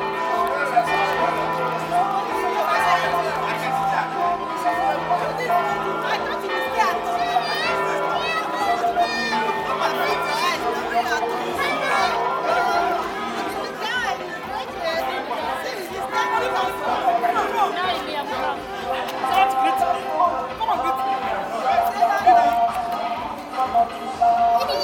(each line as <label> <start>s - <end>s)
church bells are ringing 0.0s - 13.4s
constant beat from the hall 0.0s - 24.8s
multilingual voices 0.0s - 24.8s
people are streaming in and out of the hall 0.0s - 24.8s